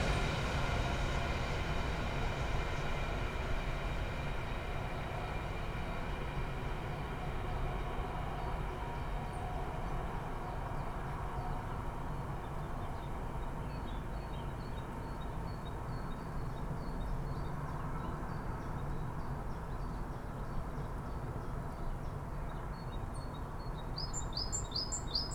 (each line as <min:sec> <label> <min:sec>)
0:00.0 trains 0:25.3